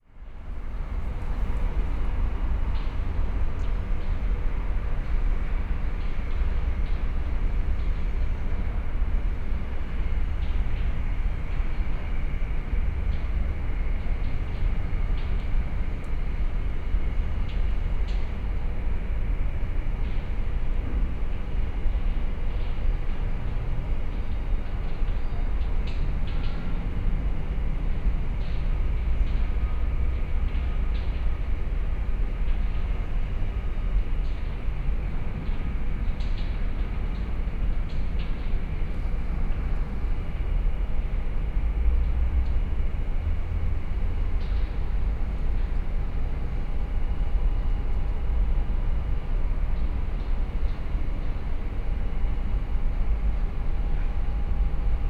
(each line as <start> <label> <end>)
0.1 cargo train terminal 55.0